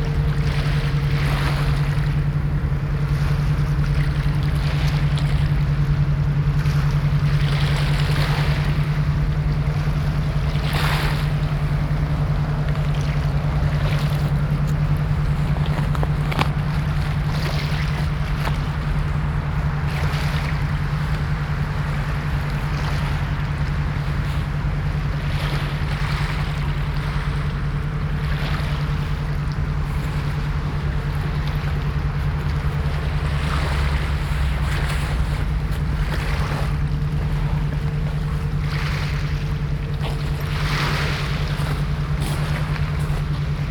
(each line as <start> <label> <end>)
0.0 waves 43.7